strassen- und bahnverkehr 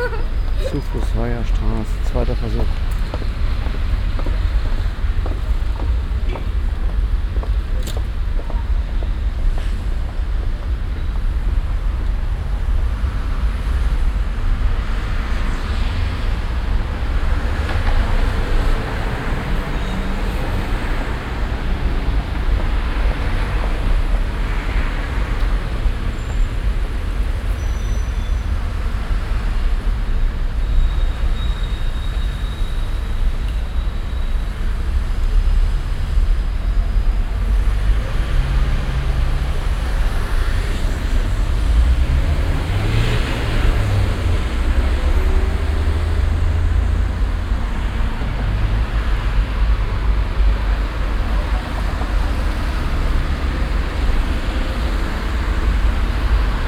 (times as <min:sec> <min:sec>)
0:00.0 0:13.1